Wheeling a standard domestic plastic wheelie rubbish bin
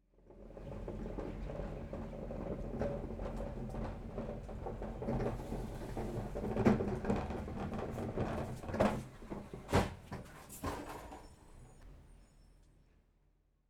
1.7s 11.3s

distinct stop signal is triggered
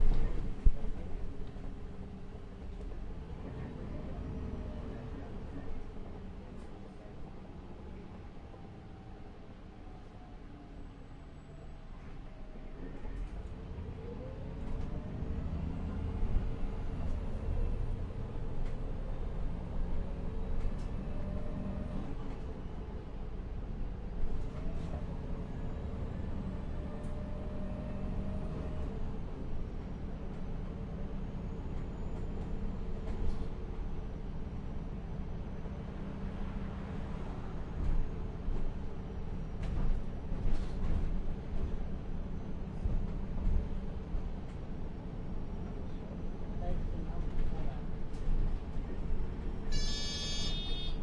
49.7s 51.0s

